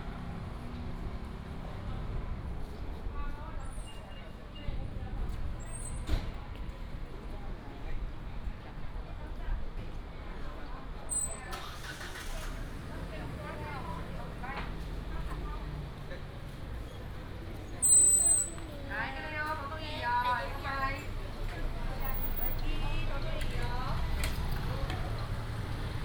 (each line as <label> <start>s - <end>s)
Traffic sound 0.0s - 8.4s
Traffic sound 11.1s - 26.0s
Walking on the road 11.6s - 26.0s